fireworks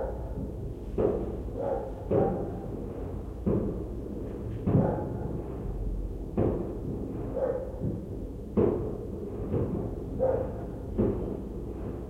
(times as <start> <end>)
4.6 10.0, 10.6 12.0